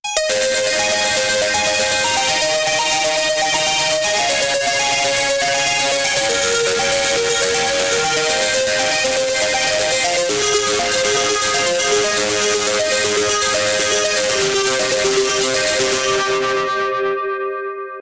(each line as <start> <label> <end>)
0.1 arpeggio 17.6